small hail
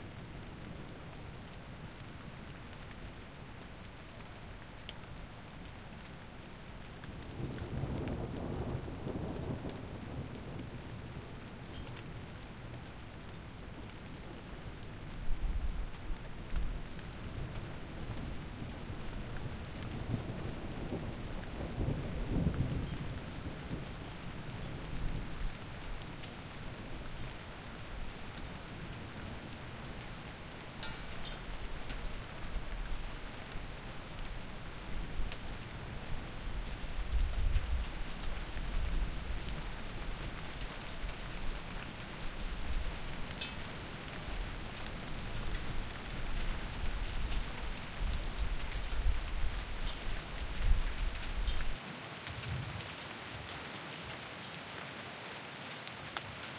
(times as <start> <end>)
30.7 32.4, 43.3 44.3